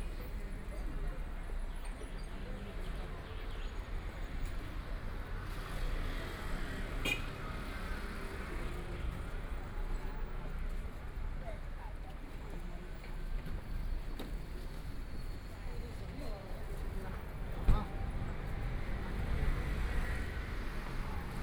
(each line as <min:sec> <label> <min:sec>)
0:14.7 Traffic Sound 0:21.4